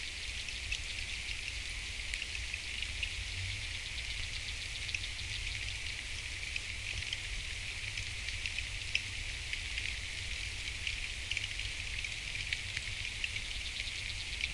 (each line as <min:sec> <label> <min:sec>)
0:00.0 river 0:14.5